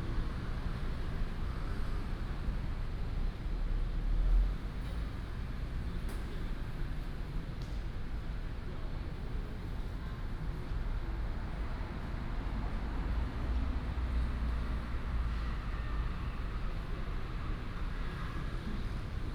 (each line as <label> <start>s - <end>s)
Traffic sound 11.1s - 19.3s